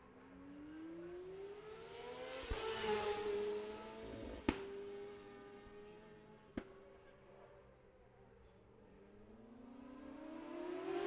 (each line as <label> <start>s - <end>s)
road racing 9.0s - 11.0s